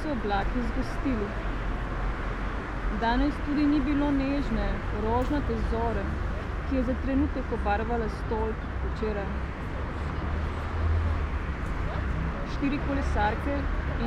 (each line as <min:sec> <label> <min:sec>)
0:00.0 street reading-fragment 0:14.0